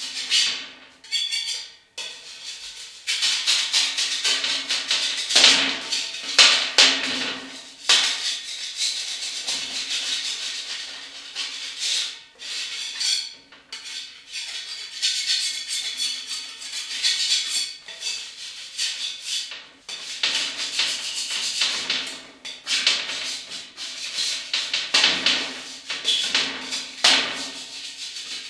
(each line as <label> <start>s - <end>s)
Stripping Paint from Metal Sheet 20.2s - 28.4s